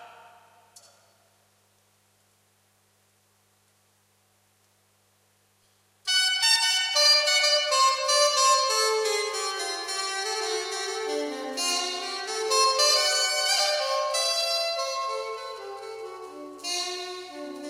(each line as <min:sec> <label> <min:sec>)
0:06.1 sop sax solo 0:17.6